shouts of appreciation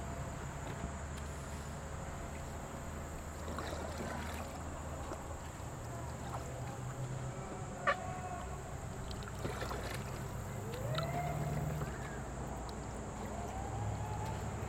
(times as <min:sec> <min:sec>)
0:07.5 0:08.7, 0:10.6 0:12.3, 0:13.4 0:14.6